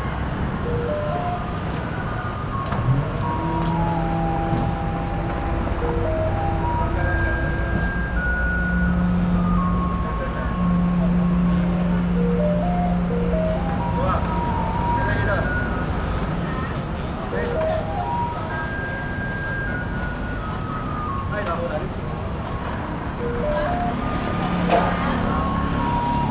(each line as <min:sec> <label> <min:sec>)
0:00.0 Garbage truck arrival broadcast music 0:26.3
0:00.0 Garbage truck arrived 0:26.3